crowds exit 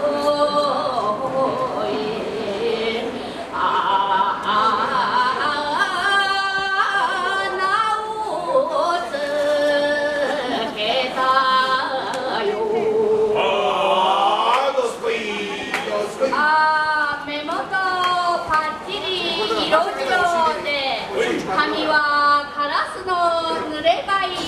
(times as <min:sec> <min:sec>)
0:13.3 0:21.8